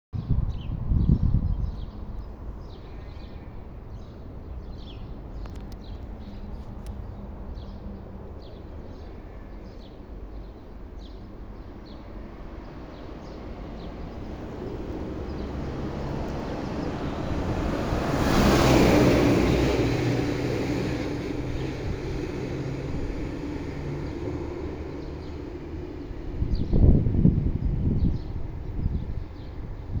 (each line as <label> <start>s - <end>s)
cars 12.9s - 26.4s